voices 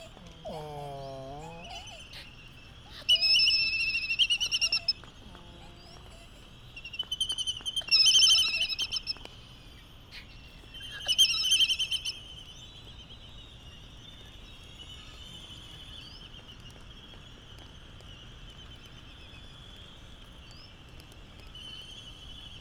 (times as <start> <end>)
0.0 7.1